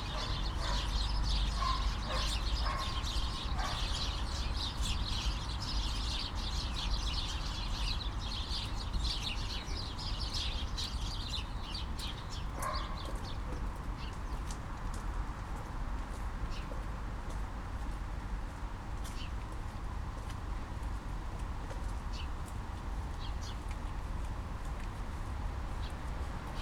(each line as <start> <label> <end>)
0.0 interactive birds 13.6
0.0 city 26.6
0.0 naughty dog 4.2
12.6 naughty dog 13.6